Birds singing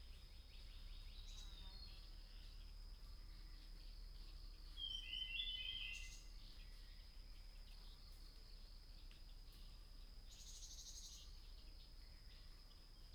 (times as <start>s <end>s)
0.0s 8.2s